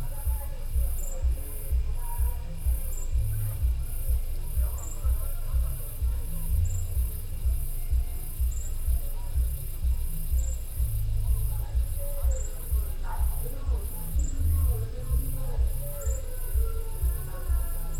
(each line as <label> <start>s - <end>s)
Night birds 0.0s - 17.9s
insects 0.0s - 17.9s
voices from at least two bars 0.0s - 17.9s